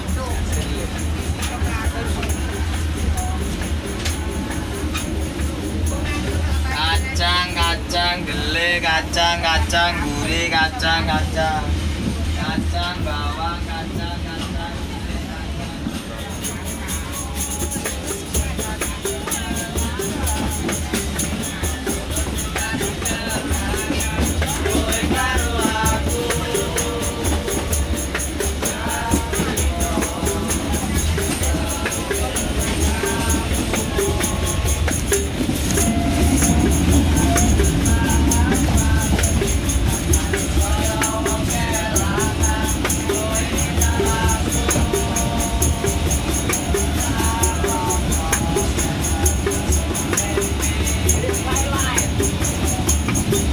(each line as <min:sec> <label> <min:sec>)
0:00.0 Lowcost Train 0:53.5
0:00.0 percussions 0:53.5